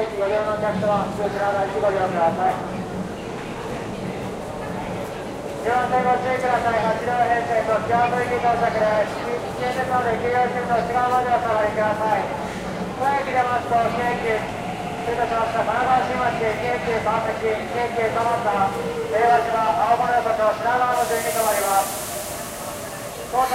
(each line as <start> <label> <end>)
0.0 people walking and talking 23.5
0.0 public announces 23.5
0.0 trains departing 23.5